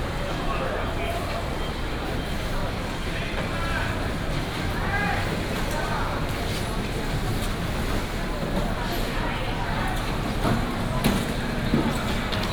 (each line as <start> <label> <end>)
9.5 Traffic sound 12.5